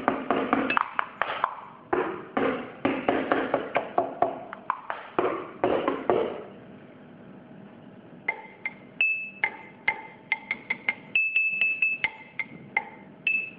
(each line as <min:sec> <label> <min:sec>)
0:00.0 percussion 0:06.4
0:09.4 percussion 0:13.5